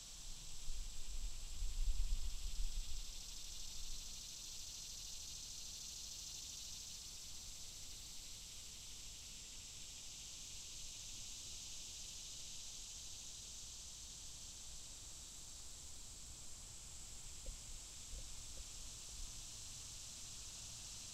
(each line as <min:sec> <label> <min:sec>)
0:00.0 cicadas 0:21.1